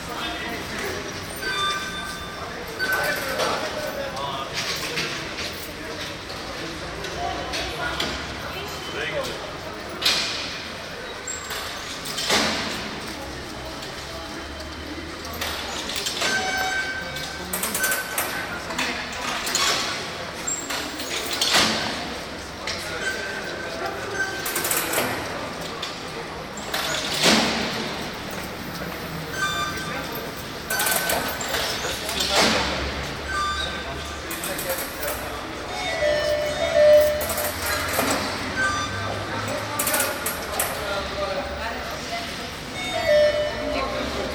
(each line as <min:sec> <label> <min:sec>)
0:00.0 railway 0:44.3
0:33.3 3 tone melody is the signal of the automatic gate 0:34.1
0:35.8 3 tone melody is the signal of the automatic gate 0:39.4